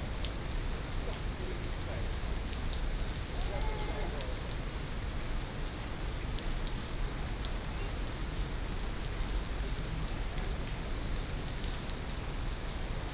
Rain 0.0 - 13.1
Cicada sounds 0.0 - 4.8

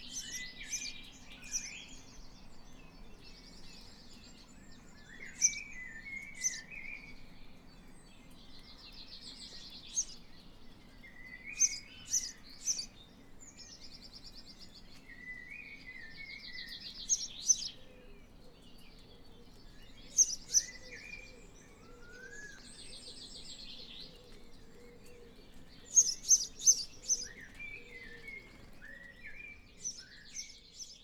house sparrow 23.8 - 31.0

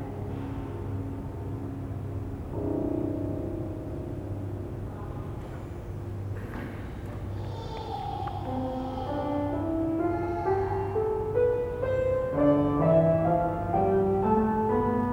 piano 0.0 - 15.1
children facepainting 7.3 - 11.2

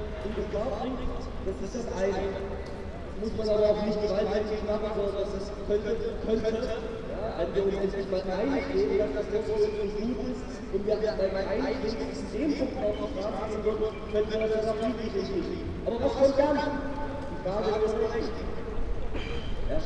their speeches 0.0 - 19.8
Trams 18.8 - 19.8

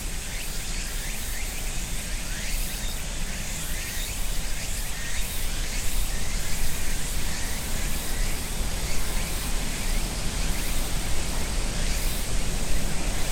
Cicadas 0.0 - 13.3
other insects 0.0 - 13.3

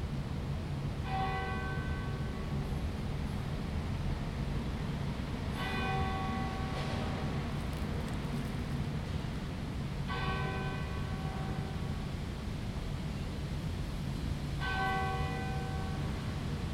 Prayer Bell 1.0 - 2.6
Prayer Bell 5.6 - 7.4
Prayer Bell 10.0 - 12.1
Prayer Bell 14.6 - 16.5

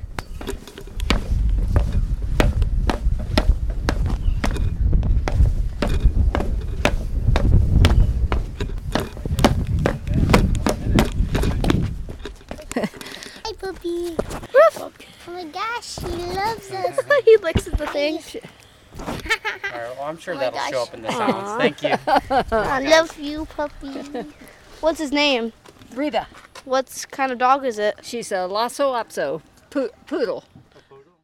Climbing up the fire tower 0.0 - 14.5

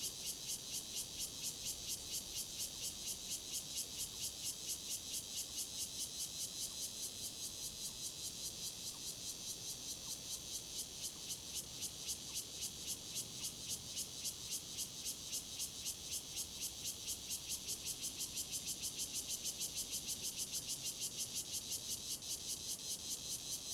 Cicadas sound 0.0 - 23.7

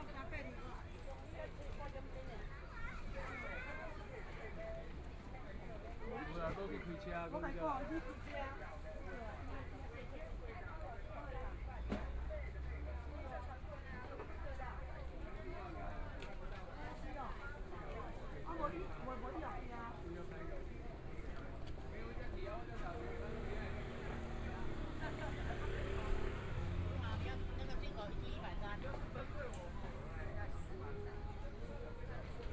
Walking through the market 0.0 - 32.5
Traffic Sound 21.4 - 32.5

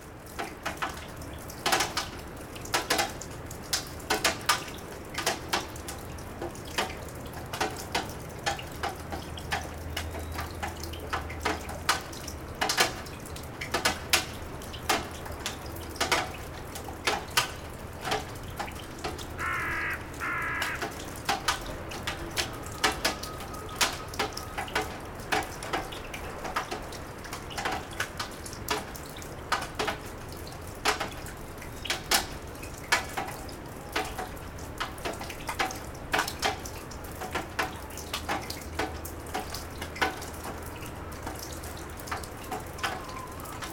melting snow drips 0.0 - 43.7

